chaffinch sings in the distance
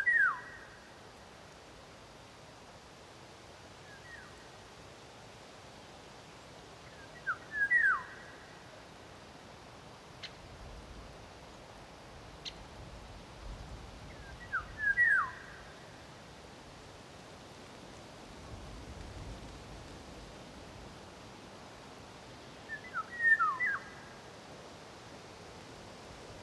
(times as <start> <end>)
0.0 0.9, 3.8 4.4, 6.8 8.9, 14.0 16.1, 22.6 24.4